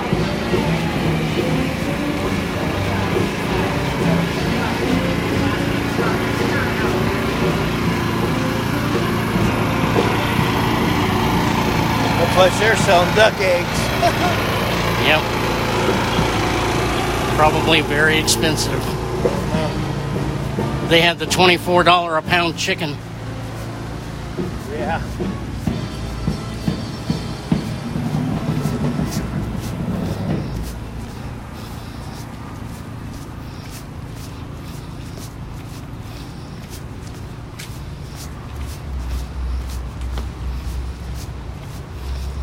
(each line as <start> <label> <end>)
0.0 people talking and greeting each other 40.4
0.0 chatter between me and the bus driver 42.4
0.0 footsteps 42.4
0.0 generator for the Thai food truck 42.4
31.5 breathing 32.8